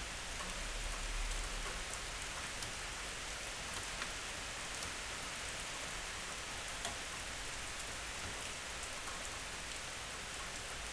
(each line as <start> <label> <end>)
0.0 rain 10.9